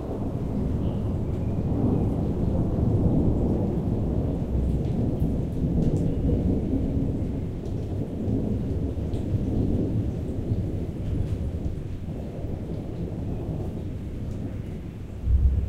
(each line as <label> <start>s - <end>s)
Distant Thunder Rumble 0.0s - 15.6s
raindrops 0.0s - 15.6s